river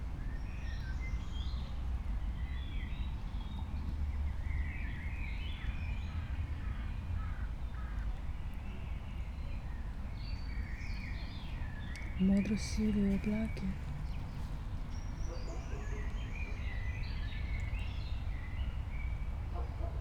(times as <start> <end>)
17.4 20.0